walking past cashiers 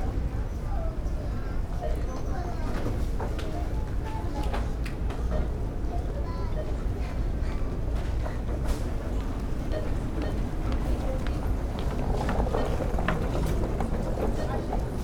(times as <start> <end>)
8.1 15.0